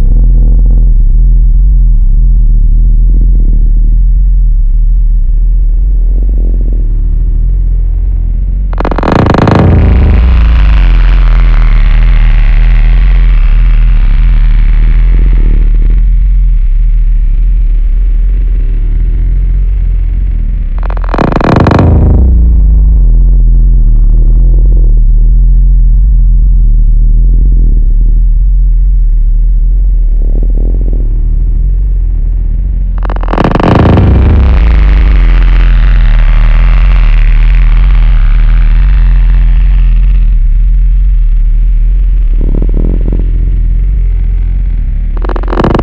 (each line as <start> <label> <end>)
0.0 abstract sound that simulate the crashing of the land 45.8